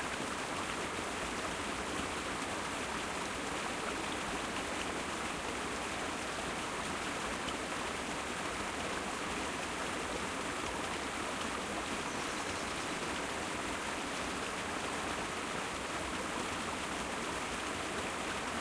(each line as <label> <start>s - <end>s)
small waterfall, about 3ft drop 0.0s - 18.6s